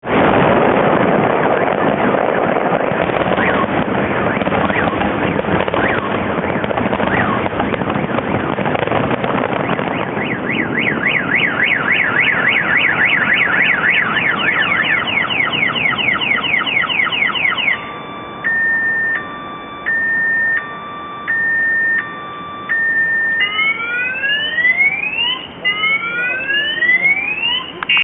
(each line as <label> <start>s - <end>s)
Fireworks 0.0s - 18.6s
car alarms 1.5s - 28.0s